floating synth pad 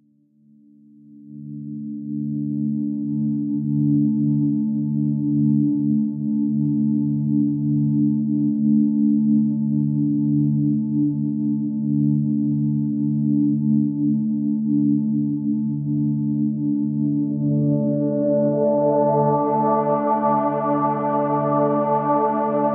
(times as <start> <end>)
16.9 22.7